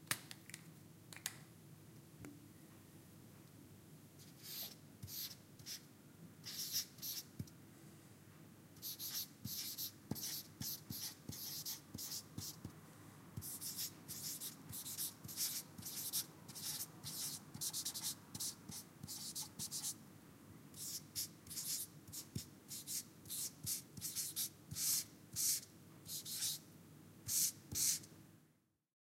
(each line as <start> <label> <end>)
4.2 Writing on a whiteboard with a dry erase marker 5.8
6.4 Writing on a whiteboard with a dry erase marker 7.5
8.8 Writing on a whiteboard with a dry erase marker 12.8
13.4 Writing on a whiteboard with a dry erase marker 20.0
20.8 Writing on a whiteboard with a dry erase marker 26.6
27.3 Writing on a whiteboard with a dry erase marker 28.1